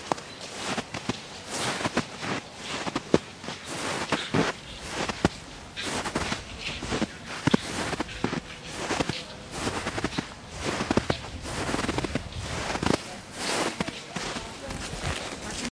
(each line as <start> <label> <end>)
0.0 walking in very high snow 15.7